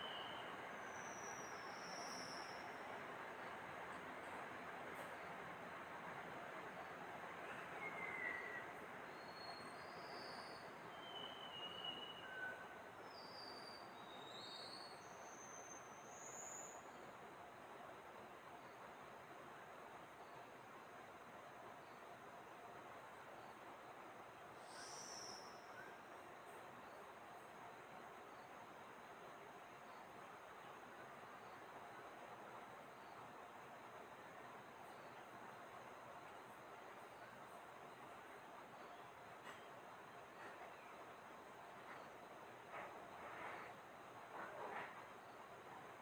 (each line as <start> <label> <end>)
0.0 Taiwan Whistling Thrush 3.5
7.4 Taiwan Whistling Thrush 17.0
24.6 Taiwan Whistling Thrush 26.1